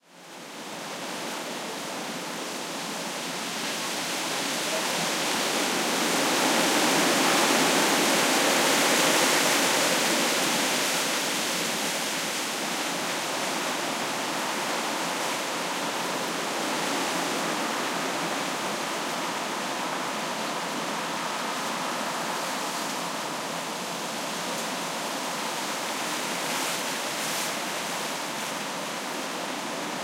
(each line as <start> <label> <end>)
0.0 wind on broad-leaved trees 30.0